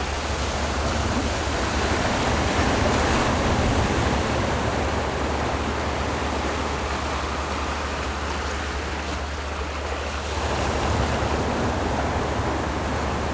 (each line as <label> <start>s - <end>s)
boats on the distant sea 0.0s - 13.3s
waves 0.0s - 13.3s